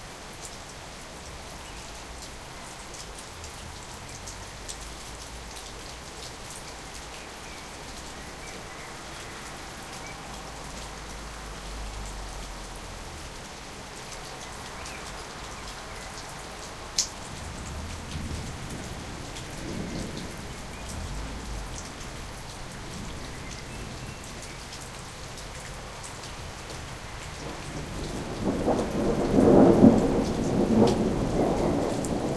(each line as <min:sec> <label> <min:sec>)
0:00.0 rain 0:32.3
0:17.4 thunder 0:22.3
0:27.4 thunder 0:32.3